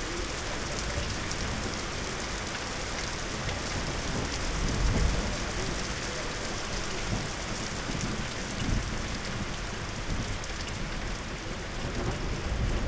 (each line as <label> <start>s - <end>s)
moderate thunderstorm 3.2s - 12.8s